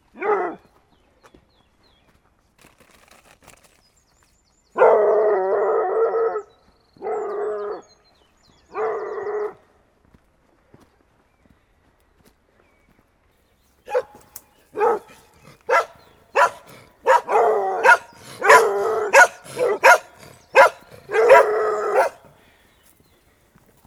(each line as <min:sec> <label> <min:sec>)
0:04.8 Dogs barking 0:06.4
0:13.9 Dogs barking 0:23.0
0:13.9 others small dogs are following 0:23.8